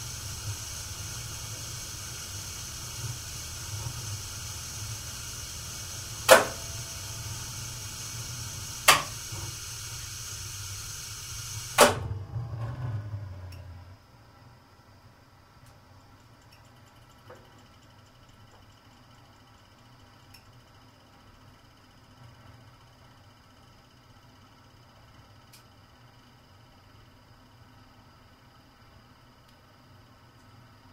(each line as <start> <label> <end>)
0.0 hiss 12.0
0.0 switches are heard when it's running 13.8
0.0 Boiler is switched off 13.9
0.0 gas ignition 13.9
0.0 gas boiler starting 14.0